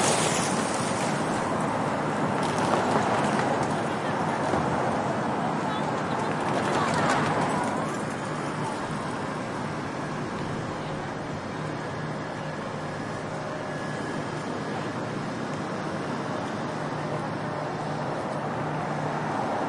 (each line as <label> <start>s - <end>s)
cars 0.0s - 19.6s
subway construction workers 0.0s - 19.6s
people 2.6s - 15.2s